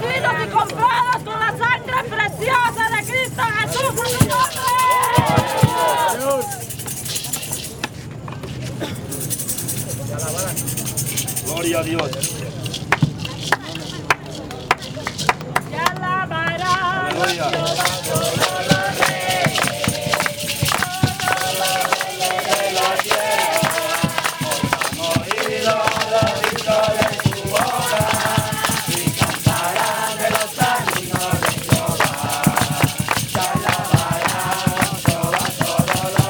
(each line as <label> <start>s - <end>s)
youth with mission evangelise and sing another song 0.0s - 6.7s
youth with mission evangelise and sing another song 15.7s - 36.2s